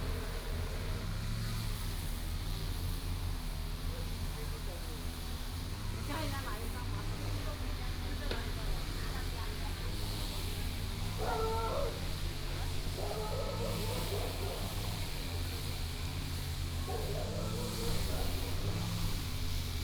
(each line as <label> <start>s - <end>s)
Lawn mower 0.0s - 11.3s
Traffic sound 0.0s - 19.8s
walking in the park 6.5s - 19.8s
Tourists 10.5s - 15.5s
Dog 11.2s - 12.1s
Lawn mower 11.9s - 19.8s
Dog 12.9s - 15.1s
Dog 16.8s - 18.9s